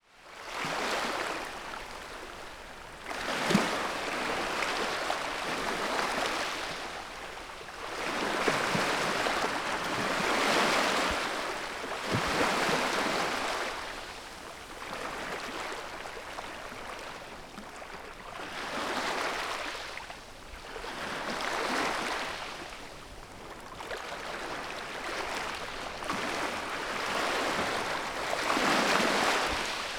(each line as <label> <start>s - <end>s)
waves and wavelets lapping the sand 0.0s - 29.9s